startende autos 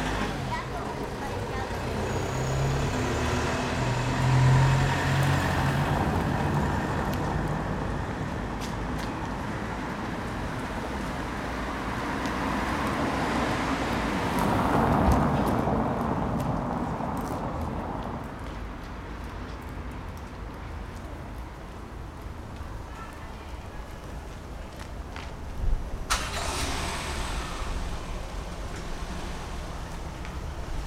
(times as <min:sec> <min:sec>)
0:26.1 0:30.5